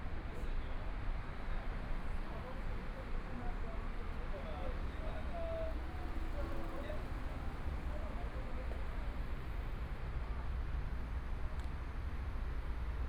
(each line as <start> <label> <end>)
0.0 Pedestrians on the road 13.0